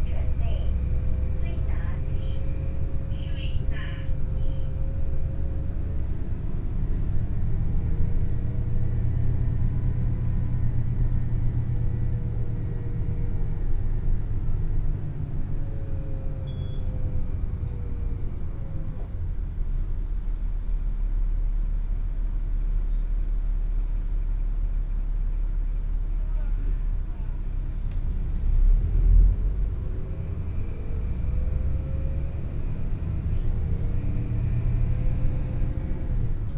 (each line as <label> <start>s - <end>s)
Bus message broadcast sound 0.0s - 4.7s
Take the bus 0.0s - 36.5s